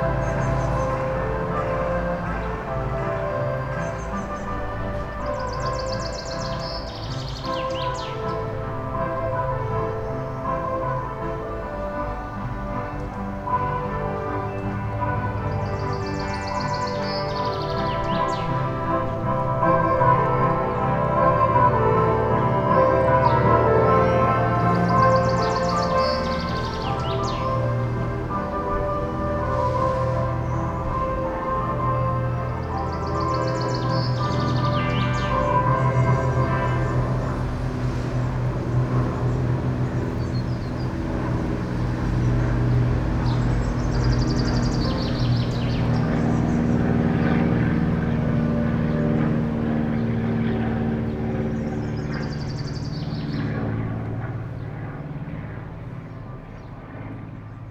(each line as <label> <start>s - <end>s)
musicians tuning 0.0s - 55.3s
aeroplane 0.0s - 57.7s
birds 0.0s - 57.7s
car traffic 0.0s - 57.7s